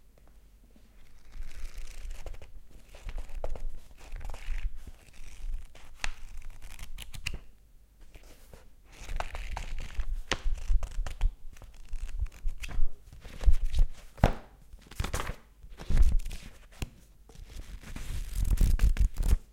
book pages moving fast 0:08.9 - 0:19.4

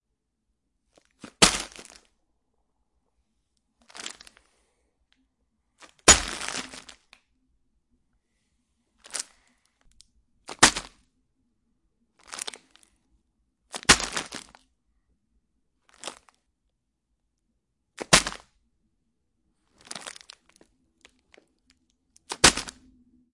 Dropping bag of veggies onto floor repeatedly 0:01.0 - 0:02.1
Dropping bag of veggies onto floor repeatedly 0:03.9 - 0:04.4
Dropping bag of veggies onto floor repeatedly 0:05.8 - 0:07.1
Dropping bag of veggies onto floor repeatedly 0:10.5 - 0:11.0
Dropping bag of veggies onto floor repeatedly 0:12.2 - 0:12.8
Dropping bag of veggies onto floor repeatedly 0:13.7 - 0:14.6
Dropping bag of veggies onto floor repeatedly 0:15.9 - 0:16.4
Dropping bag of veggies onto floor repeatedly 0:18.0 - 0:18.5
Dropping bag of veggies onto floor repeatedly 0:19.8 - 0:21.4
Dropping bag of veggies onto floor repeatedly 0:22.2 - 0:22.9

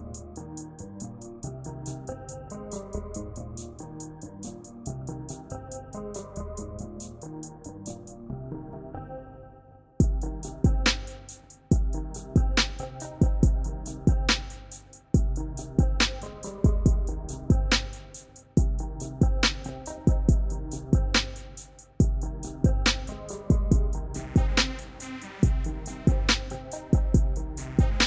Hip hop beat 0:00.0 - 0:08.2
Hip hop beat 0:10.0 - 0:28.0

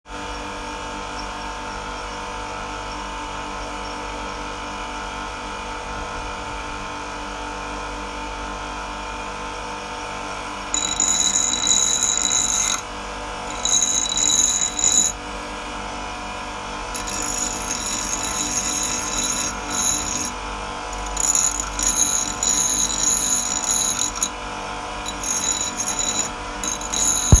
Machine sound 0:10.7 - 0:12.9
Machine sound 0:13.5 - 0:15.2
Machine sound 0:16.9 - 0:24.4
Machine sound 0:25.0 - 0:27.4

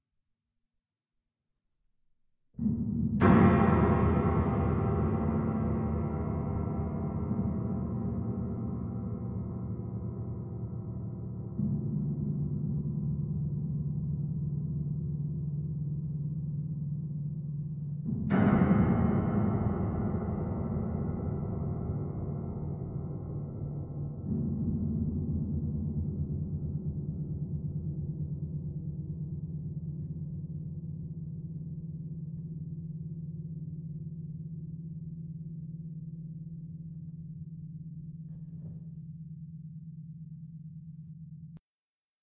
piano 0:02.6 - 0:41.5

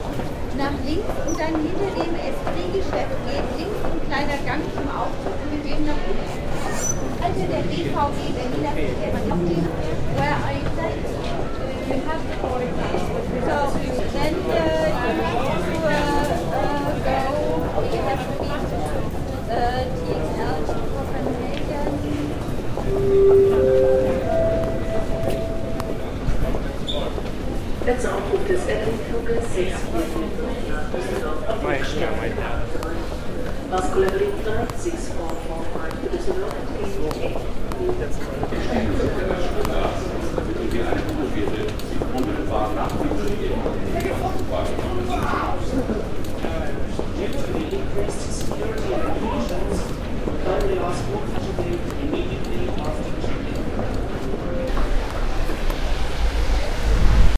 typical announcements 0:22.8 - 0:27.1

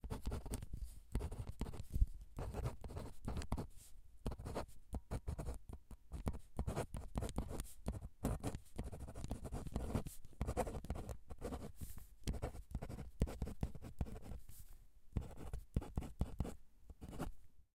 Writing with a pen 0:00.0 - 0:14.4
Writing with a pen 0:15.2 - 0:17.3

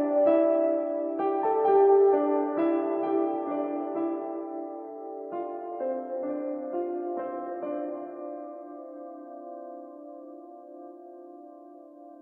reverberated piano sequence 0:00.0 - 0:12.2

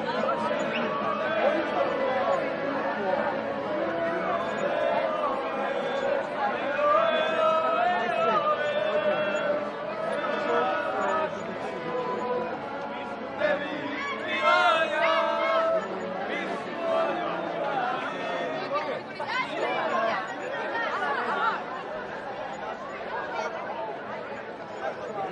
Wedding procession (singing, clapping, playing) 0:00.0 - 0:20.1
crowd of tourists 0:00.0 - 0:25.3
singing 0:00.0 - 0:25.3

